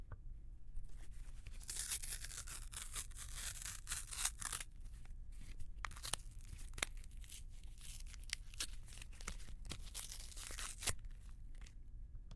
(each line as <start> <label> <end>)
0.9 ripping some paper 11.8